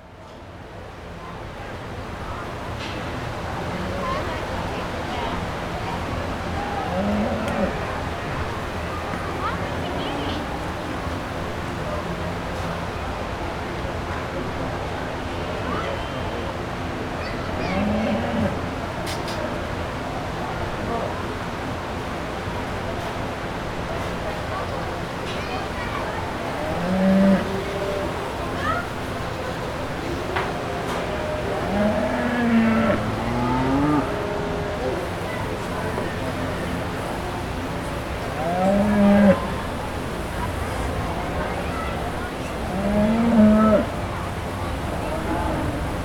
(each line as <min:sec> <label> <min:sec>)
0:23.8 washing cows 0:46.0